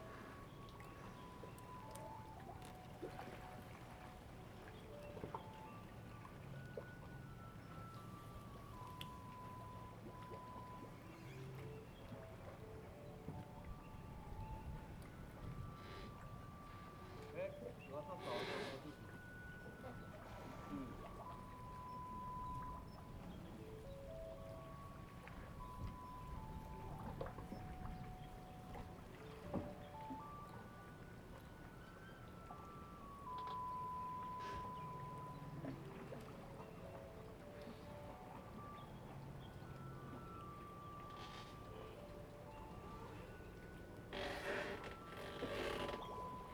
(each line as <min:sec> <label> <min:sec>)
0:00.0 Tide 0:46.5